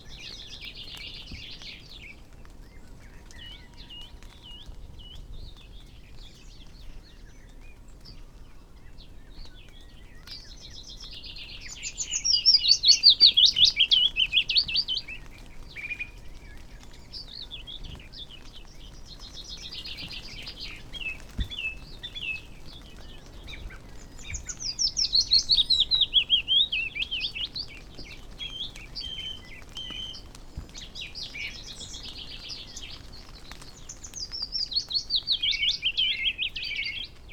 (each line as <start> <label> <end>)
0.0 background noise 37.3
0.0 blackbird song 37.3
0.0 goldfinch song 37.3
0.0 moisture dripping from trees 37.3
0.0 pheasant 37.3
0.0 song thrush 37.3
0.0 willow warbler 37.3
8.3 skylark 37.3